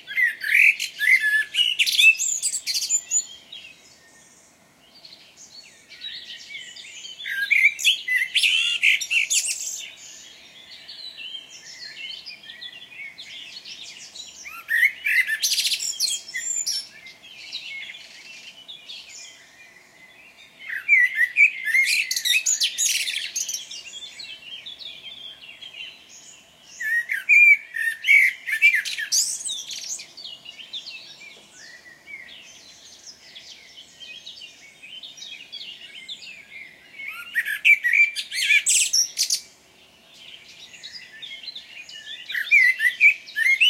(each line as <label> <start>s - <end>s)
birds singing 0.0s - 43.6s